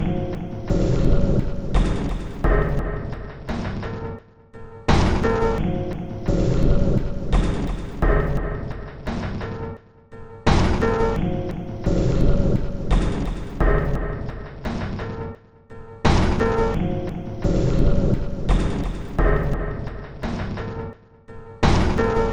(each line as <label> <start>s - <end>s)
Drum Loop 0.0s - 3.5s
Drum Loop 4.9s - 9.1s
Drum Loop 10.5s - 14.6s
Drum Loop 16.1s - 20.3s